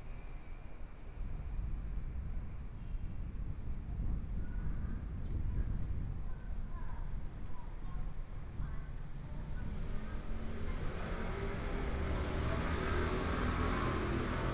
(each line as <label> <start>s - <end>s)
Pedestrian 8.1s - 14.5s
Walking across the different streets 9.2s - 14.5s
Traffic Sound 9.4s - 14.5s
Motorcycle Sound 10.7s - 14.5s